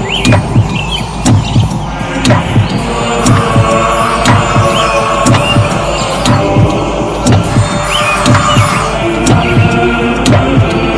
0.0s Drone 10.9s

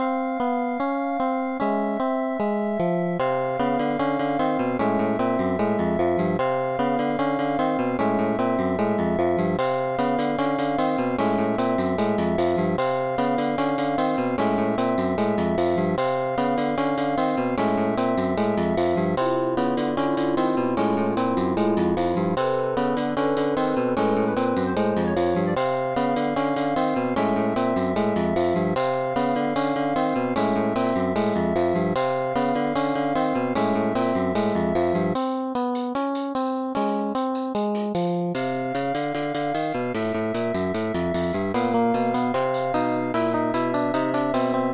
0.0s suspenseful music 35.2s

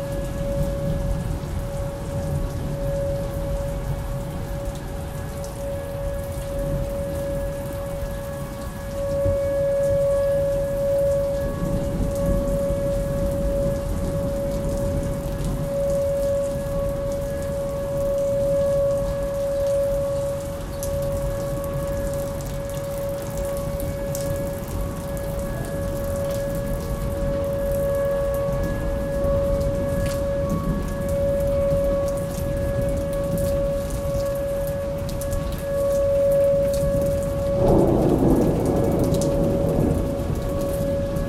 0.0s Tornado sirens running 41.2s
0.0s rain 41.2s
11.4s thunder 15.9s
28.0s thunder 33.8s
36.7s thunder 41.2s

